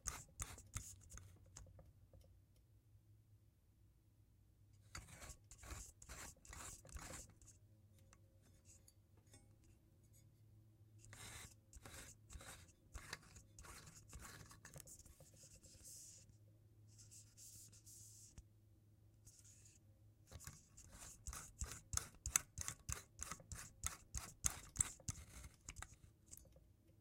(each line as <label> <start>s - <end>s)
screw in the light bulb 21.3s - 26.5s